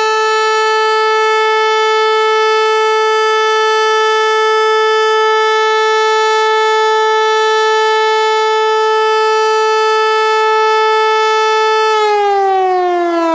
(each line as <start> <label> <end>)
0.0 mechanical Siren 13.3